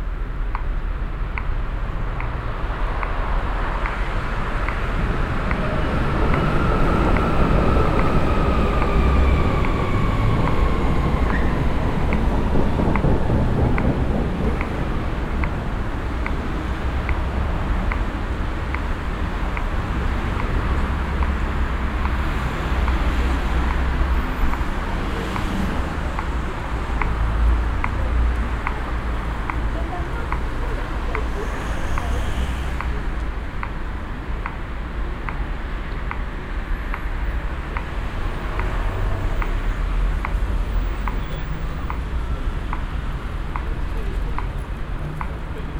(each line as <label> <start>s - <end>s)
people 18.0s - 33.8s